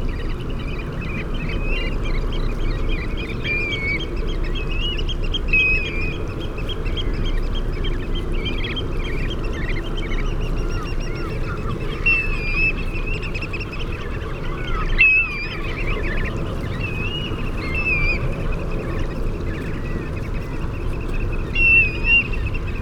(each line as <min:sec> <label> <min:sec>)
0:00.0 canada goose 0:22.8
0:00.0 curlew 0:22.8
0:00.0 herring gull 0:22.8